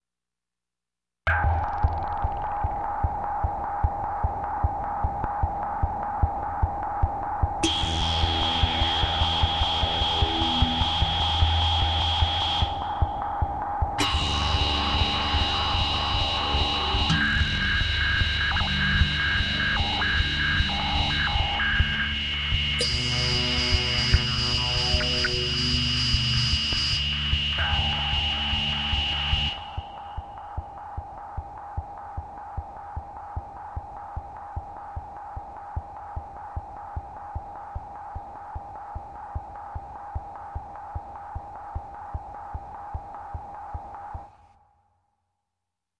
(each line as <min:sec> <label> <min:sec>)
0:01.3 guitar synth 0:03.4
0:07.6 guitar synth 0:30.6